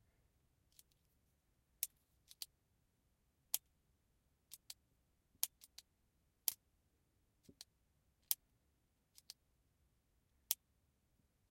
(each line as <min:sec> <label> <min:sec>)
0:04.5 Pen Clicking 0:04.8
0:09.1 Pen Clicking 0:09.4